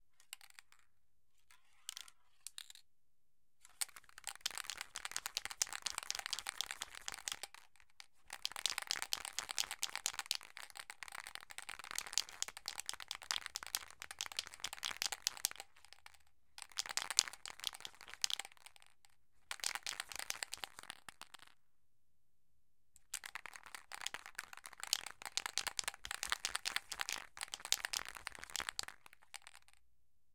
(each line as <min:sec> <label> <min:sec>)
0:23.3 Shaking paint spray balloon 0:29.7